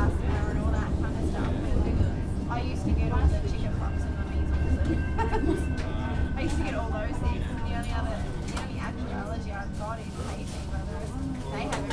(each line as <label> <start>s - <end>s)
train 0.0s - 11.9s